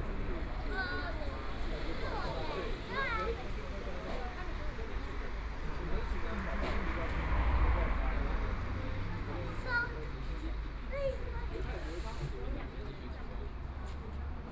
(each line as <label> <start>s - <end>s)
Traffic Sound 0.0s - 14.5s